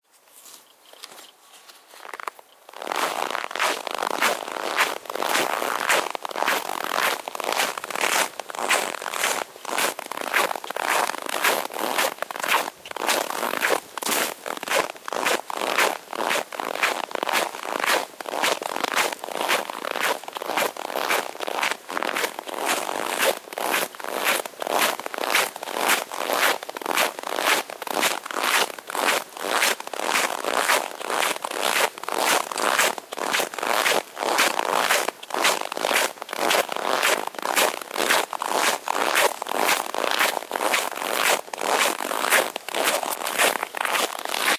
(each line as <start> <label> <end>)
0.0 Snow underfoot 44.5